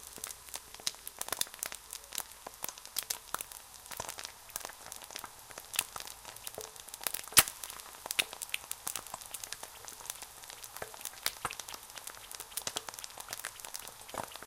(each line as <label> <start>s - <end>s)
Frying an egg 0.0s - 14.4s